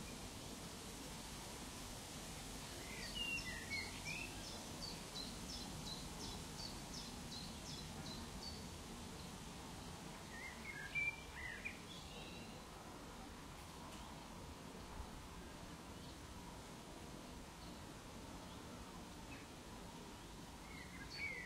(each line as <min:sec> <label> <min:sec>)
0:00.0 trickling stream 0:11.8
0:20.6 birdsong 0:21.4